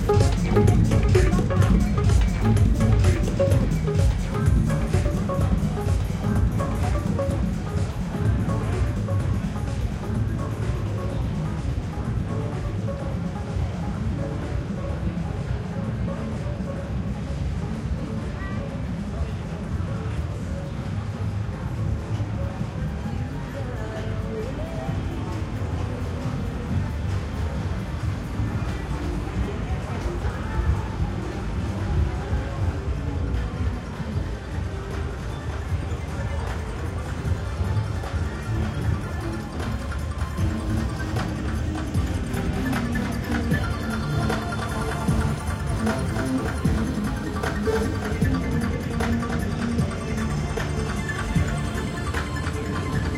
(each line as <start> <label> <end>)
0.0 crowd 53.1
0.0 music 53.1